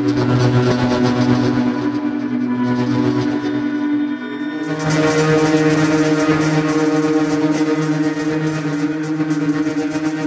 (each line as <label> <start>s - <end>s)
Drone Synth 0.0s - 10.2s